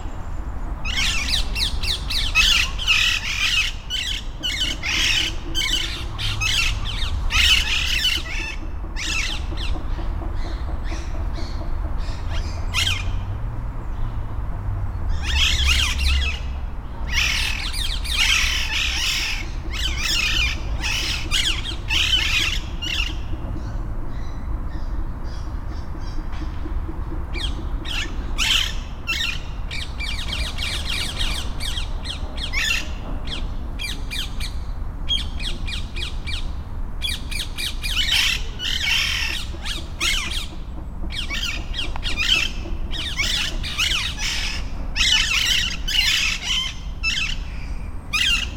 0.0s flock of free living, green parrots 48.5s
0.0s traffic noise 48.5s
4.4s construction works 13.7s

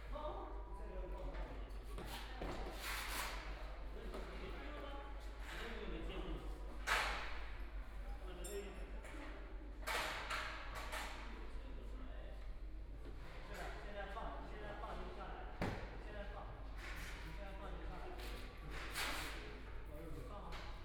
0.0s Construction workers are arranged exhibition 20.8s

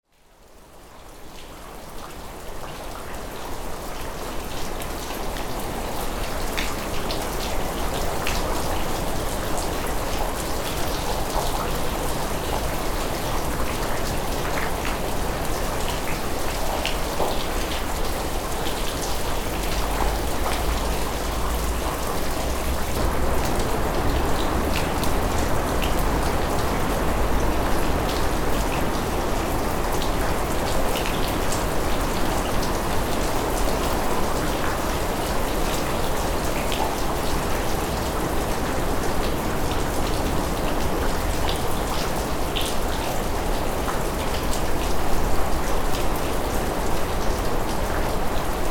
0.0s rain 48.7s

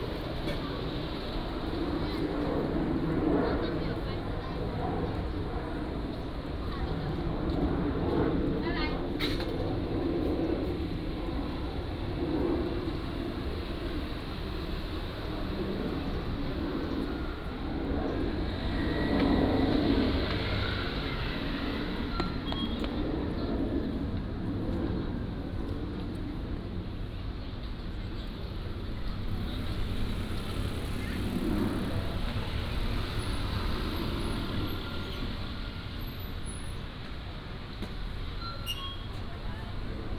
8.6s Traffic Sound 40.1s

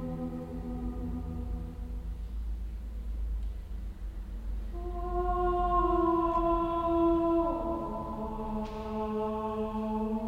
0.0s vokalem ausstellungseröffnungskonzert 3.2s
3.8s vokalem ausstellungseröffnungskonzert 10.2s

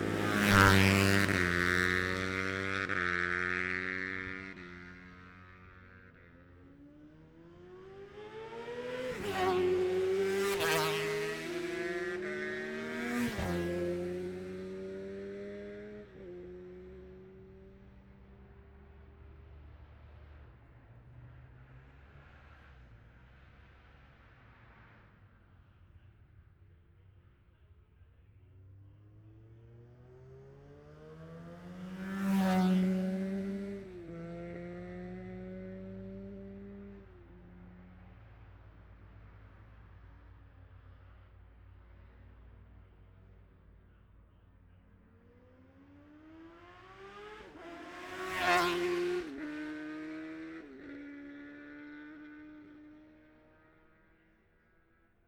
0.0s road racing 55.2s

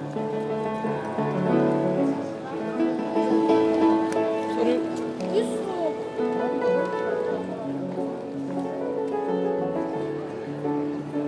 0.0s people walking quietly 11.2s
0.0s piano player 11.2s

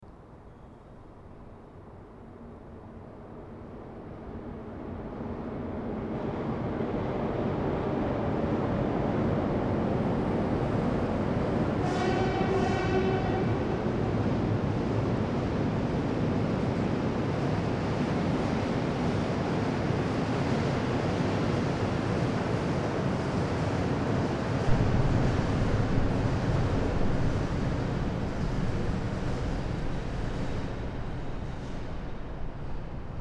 0.0s train passes by 33.2s
24.7s tube resonance 33.2s

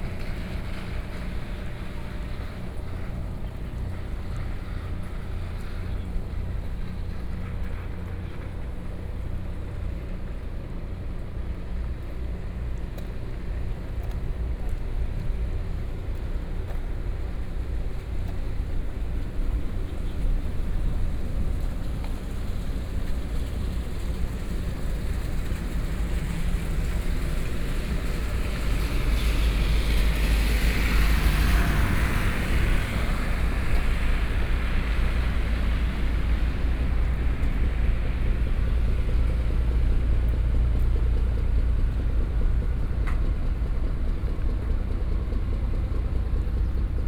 0.0s Rainy Day 47.0s

